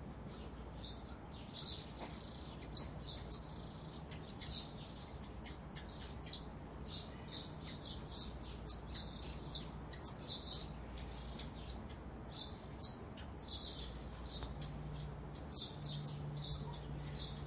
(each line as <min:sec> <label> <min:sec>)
0:00.0 sparrows chirping in the background 0:17.4
0:00.3 pair of Golden Lion Tamarins calling 0:17.4